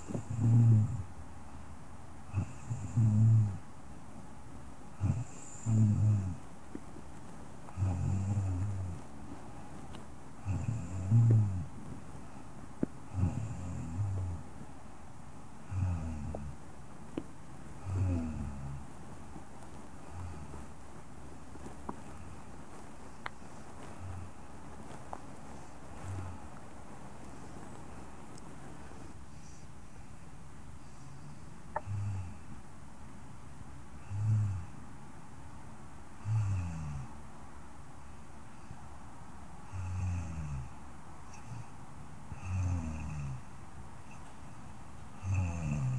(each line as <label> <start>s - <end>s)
Soft Female Snoring 0.0s - 1.1s
Soft Female Snoring 2.3s - 3.7s
Soft Female Snoring 4.9s - 6.4s
Soft Female Snoring 7.7s - 9.1s
Soft Female Snoring 10.4s - 12.4s
Soft Female Snoring 13.1s - 14.5s
Soft Female Snoring 15.6s - 16.6s
Soft Female Snoring 17.8s - 18.9s
Soft Female Snoring 20.0s - 20.7s
Soft Female Snoring 23.1s - 29.7s
Soft Female Snoring 30.8s - 32.5s
Soft Female Snoring 34.0s - 34.8s
Soft Female Snoring 36.2s - 37.2s
Soft Female Snoring 39.6s - 43.5s
Soft Female Snoring 45.2s - 45.9s